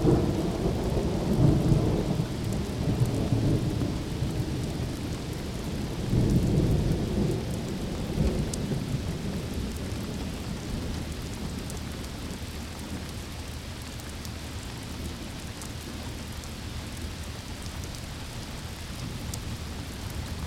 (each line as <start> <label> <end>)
0.0 Thunderstorm 12.4